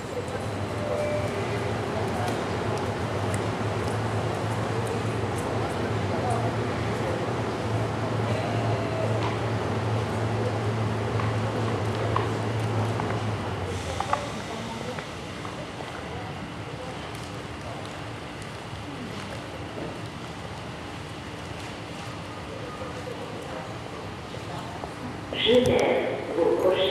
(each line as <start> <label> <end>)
0.0 train entering station 26.9
25.2 announcements from the station 26.9